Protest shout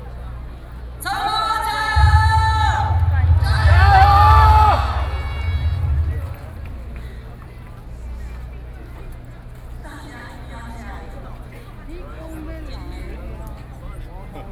1.0s 6.9s

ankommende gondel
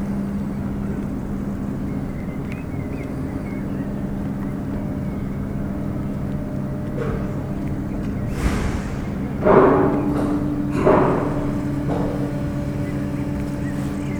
3.9s 14.1s

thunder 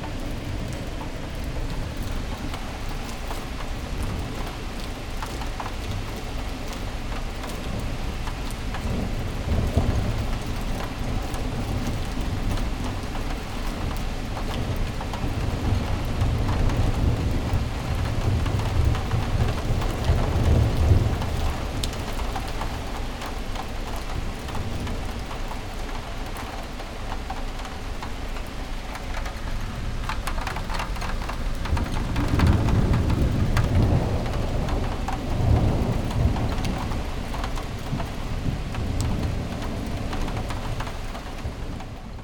8.8s 13.2s, 30.6s 42.2s

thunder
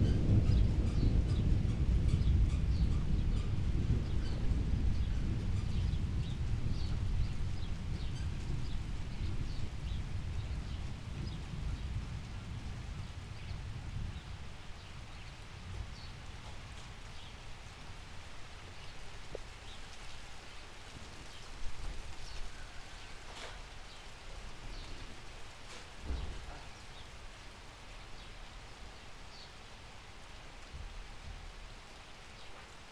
0.0s 17.3s, 25.7s 26.8s

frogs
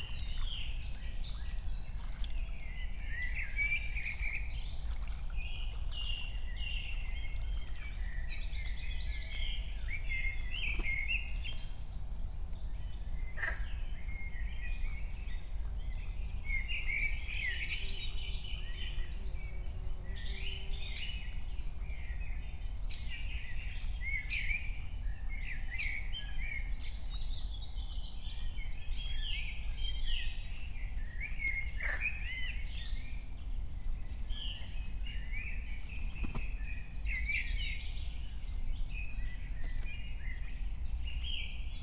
13.4s 13.7s, 31.7s 32.4s

